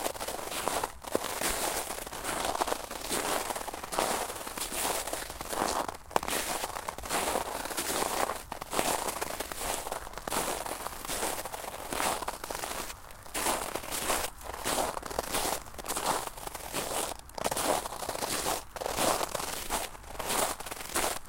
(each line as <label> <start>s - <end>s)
Snow steps 0.0s - 21.2s